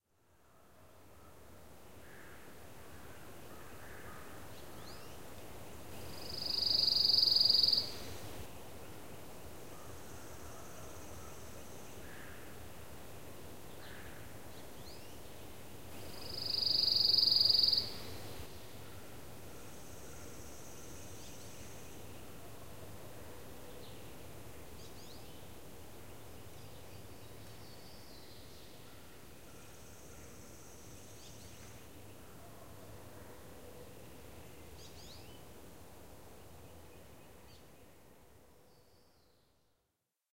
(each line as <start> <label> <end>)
6.1 trilling song of the Pine Warbler 8.2
16.1 trilling song of the Pine Warbler 18.3